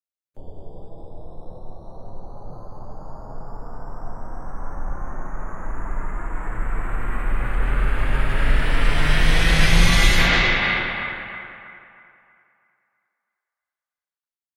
impact riser 4.8 - 11.9

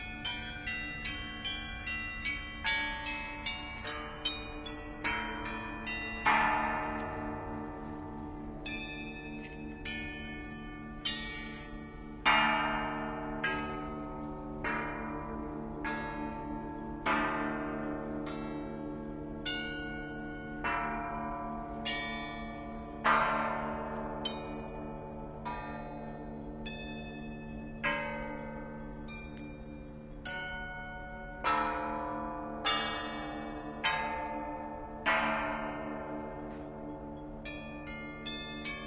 bells 0.0 - 38.8

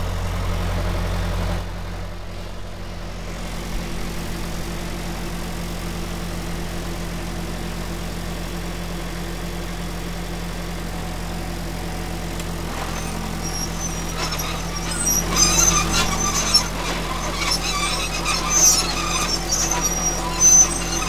Caterpillar bulldozer levelling a road 0.0 - 21.0
Treads 10.9 - 21.0
Screech 12.7 - 21.0

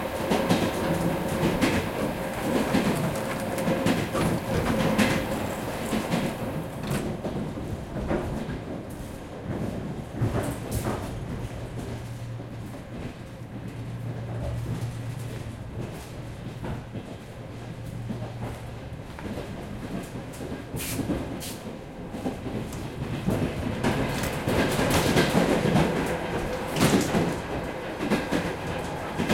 suburban train 0.0 - 29.3

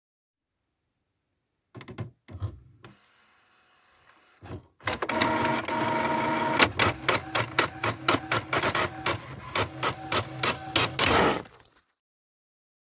printer 2.4 - 11.7
paper 6.8 - 12.0

